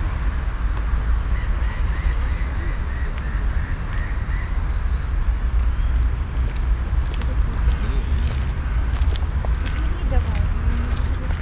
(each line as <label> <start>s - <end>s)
vereinzelte Rufe des Seegefieders 5.2s - 11.4s